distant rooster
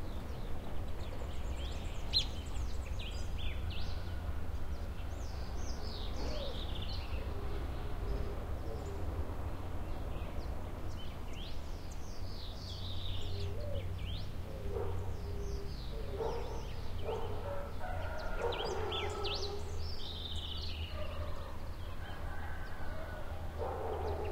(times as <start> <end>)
3.2 9.1, 14.6 19.9, 20.6 24.3